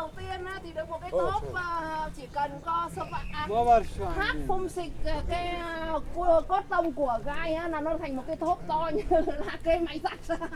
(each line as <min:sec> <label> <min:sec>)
0:00.0 woman is talking to everyone in chinese 0:10.5